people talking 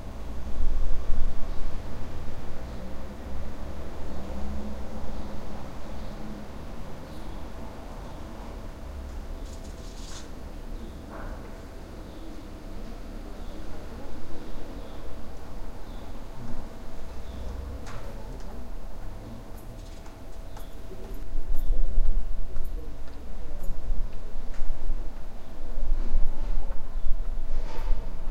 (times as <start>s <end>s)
10.8s 15.4s, 16.0s 24.6s